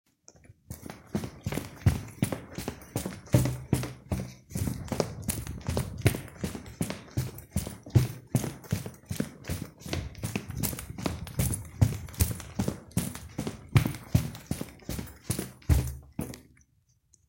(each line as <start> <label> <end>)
0.3 Running on concrete 16.6